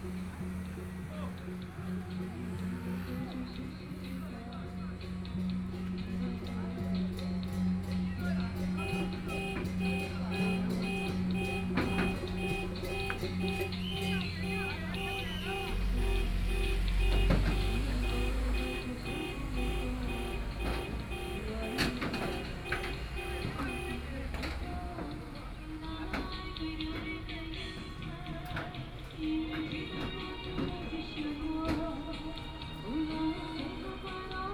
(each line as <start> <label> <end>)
0.0 Traffic Sound 34.5